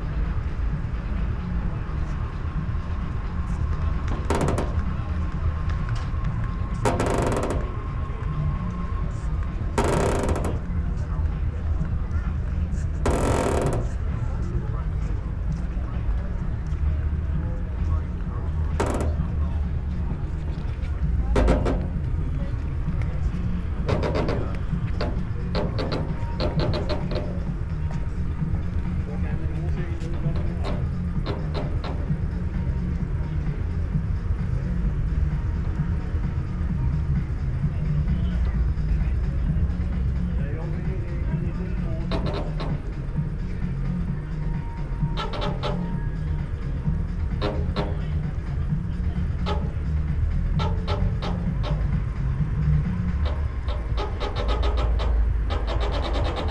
drawbridge, squeaks 6.7 - 8.0
drawbridge, squeaks 9.7 - 10.9
drawbridge, squeaks 13.0 - 14.0
drawbridge, squeaks 18.7 - 33.4
drawbridge, squeaks 41.9 - 56.5

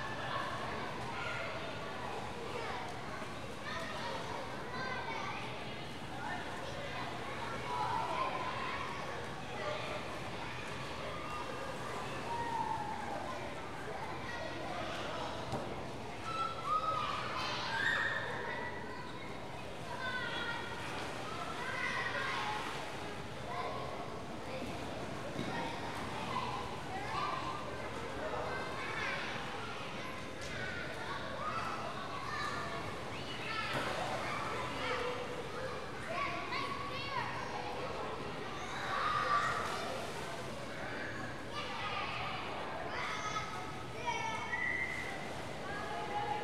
Water basketball game 0.0 - 46.4
Kids yelling, running, playing, splashing, jumping in 6.2 - 15.4
Kids yelling, running, playing, splashing, jumping in 16.2 - 23.8
Kids yelling, running, playing, splashing, jumping in 24.4 - 37.9
Kids yelling, running, playing, splashing, jumping in 38.6 - 42.1
Kids yelling, running, playing, splashing, jumping in 44.0 - 46.4

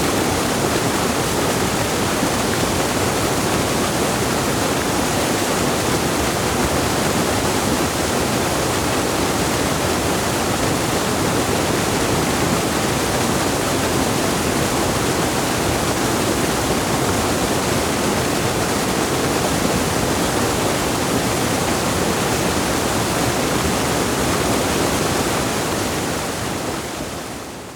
Black water gushing into the settling pool 0.0 - 27.7

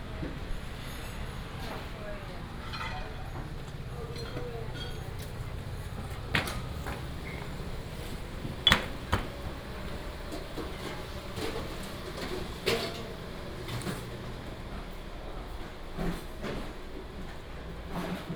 Walking 3.5 - 14.7

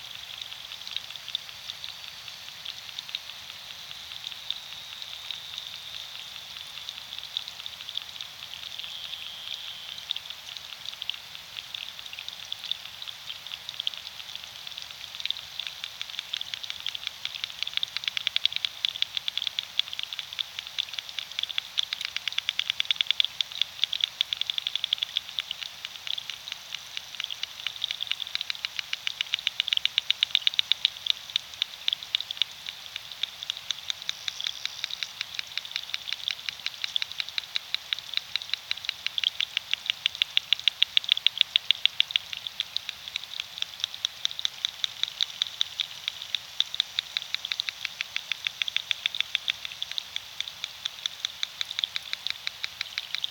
Underwater sounds of river 0.0 - 53.3

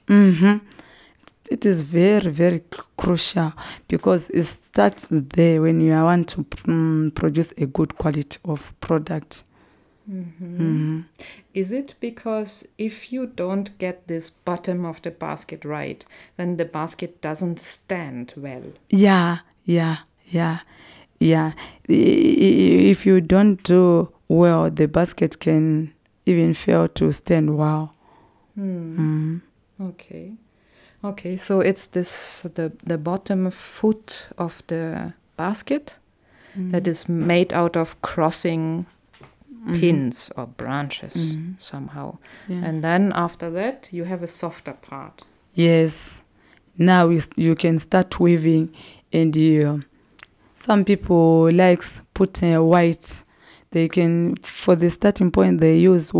interview 41.1 - 41.6

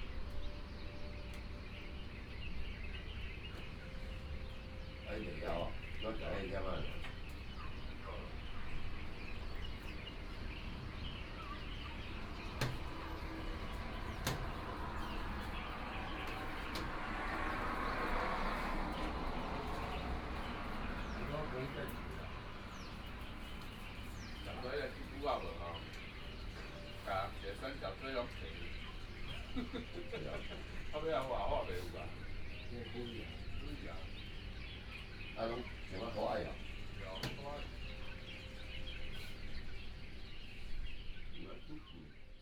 traffic sound 0.0 - 42.4

